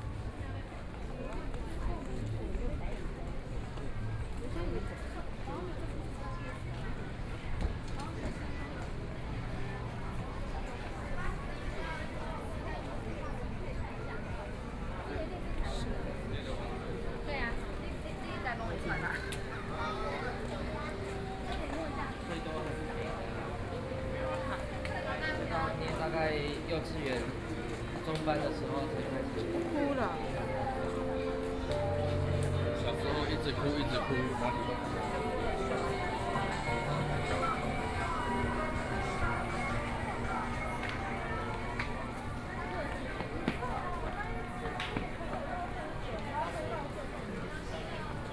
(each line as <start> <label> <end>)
0.0 Various shops voices 48.3
17.0 Traffic Sound 45.2
19.0 Walking 44.8